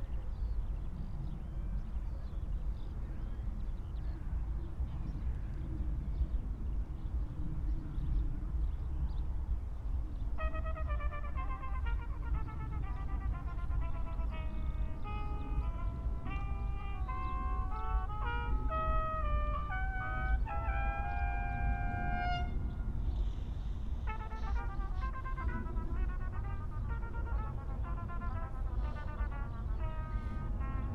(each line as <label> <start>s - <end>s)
skylarcs singing 12.9s - 22.9s